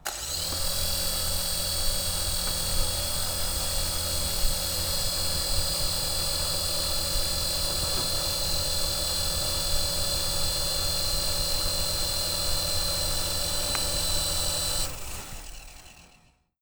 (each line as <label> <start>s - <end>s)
RC helicopter starting, hovering and stop 0.0s - 16.6s